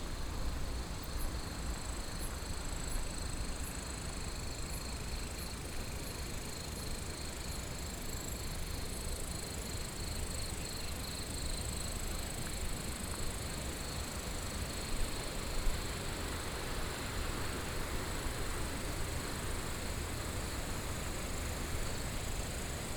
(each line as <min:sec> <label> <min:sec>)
0:05.7 Stream 0:22.9